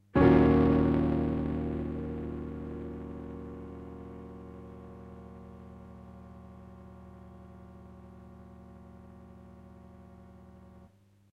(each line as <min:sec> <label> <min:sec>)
0:00.2 Short electronic piano chord with effect of explosion 0:05.5